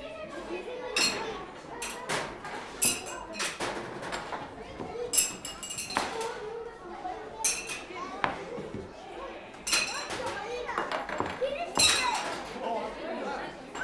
little rings had to be thrown on glass bottles 0:05.1 - 0:06.1

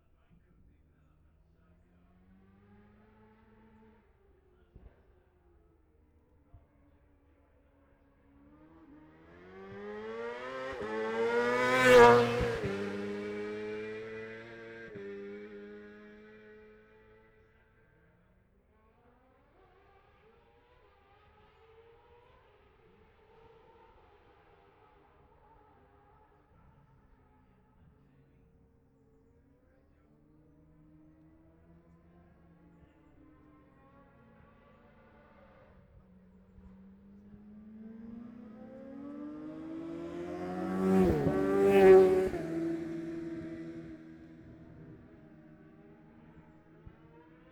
F2 sidecars 0:30.2 - 0:47.5

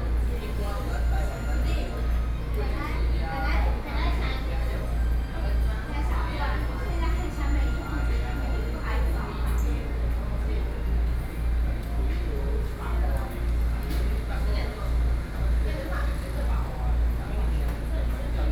Air conditioning noise 0:00.0 - 0:18.5

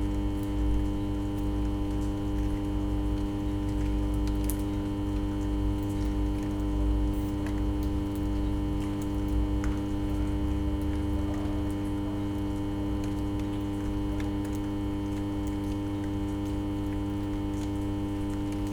electric hum of transformer 0:00.0 - 0:18.7
dripping water 0:00.0 - 0:18.7

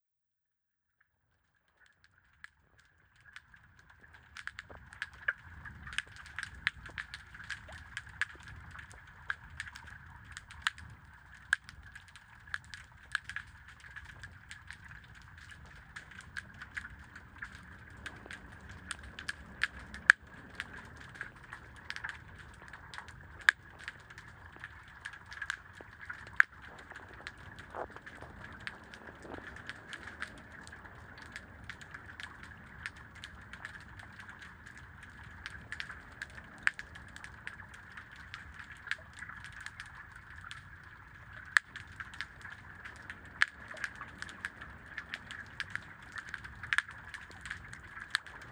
sardines feeding 0:02.9 - 0:48.5

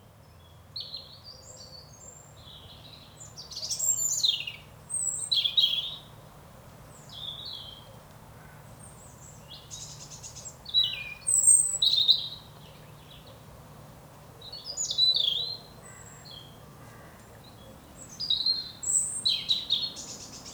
blackbird is singing 0:00.4 - 0:06.1
blackbird is singing 0:08.9 - 0:13.4
blackbird is singing 0:14.4 - 0:16.6
blackbird is singing 0:17.4 - 0:20.5

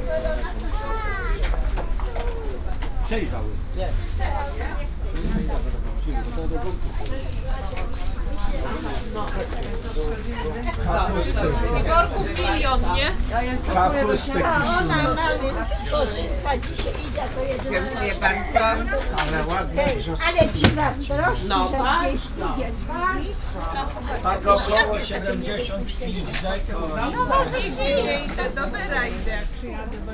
people talking 0:00.0 - 0:30.1
vendors touting their goods, joking with customers 0:00.0 - 0:30.1
walking around stalls 0:00.0 - 0:30.1

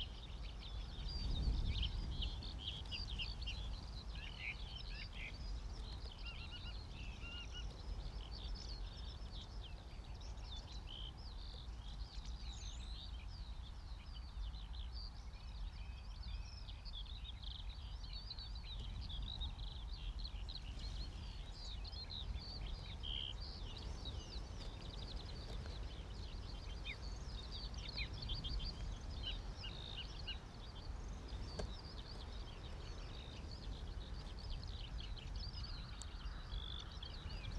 Morning song thrush very close 0:00.0 - 0:37.5
busy skylarks 0:00.0 - 0:37.5
gusty wind 0:00.0 - 0:37.5

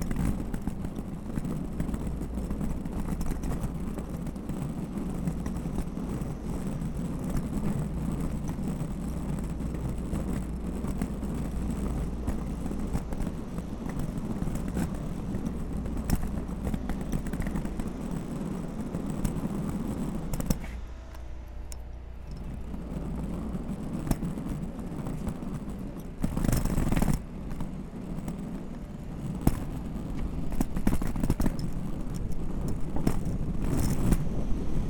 Luggage Bag Drag 0:22.2 - 0:34.8

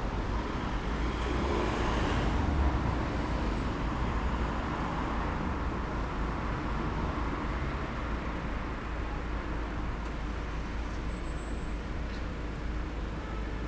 Traffic jam 0:00.0 - 0:13.6

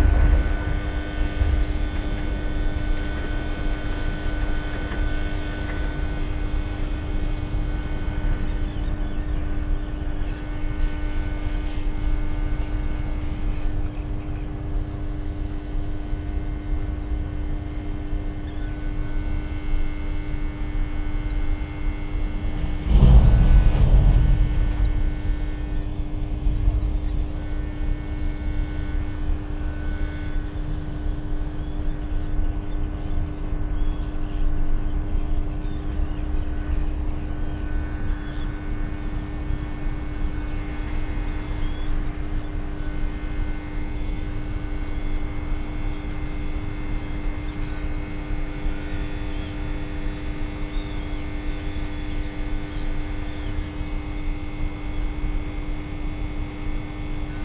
distant thunder 0:00.0 - 0:05.1
trams 0:00.0 - 0:05.1
Transformer drone 0:00.0 - 0:57.4
birds 0:07.0 - 0:11.8
birds 0:17.0 - 0:20.8
birds 0:21.4 - 0:28.5
distant thunder 0:21.5 - 0:30.1
birds 0:30.1 - 0:39.2
birds 0:41.5 - 0:43.0
birds 0:48.9 - 0:53.8

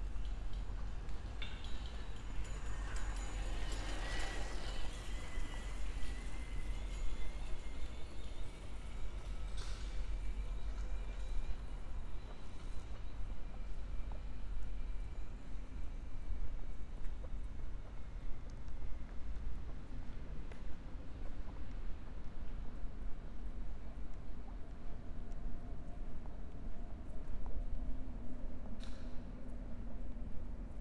cyclists 0:00.0 - 0:12.0

